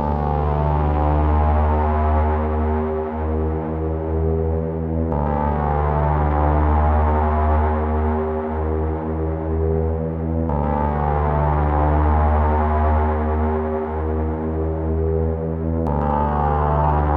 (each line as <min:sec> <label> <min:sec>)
0:00.0 vintage analog synth drone 0:17.1